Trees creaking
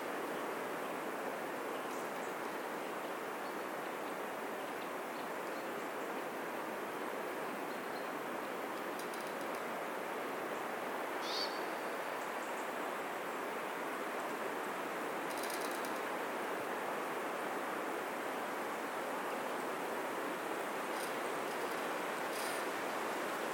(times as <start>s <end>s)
8.8s 9.7s, 15.3s 16.1s, 20.8s 22.8s